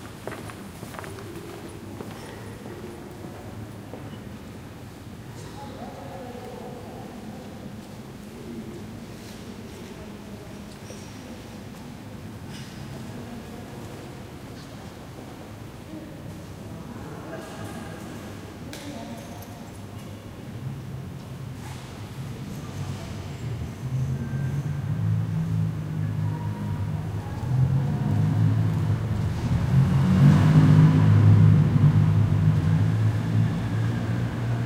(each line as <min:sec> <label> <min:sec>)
0:00.0 people walking through 0:04.1
0:00.0 murmur 0:34.6
0:23.8 car or motorbike outside 0:34.6